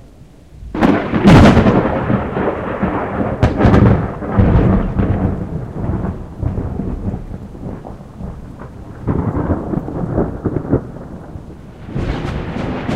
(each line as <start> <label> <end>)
0.6 thunder 12.9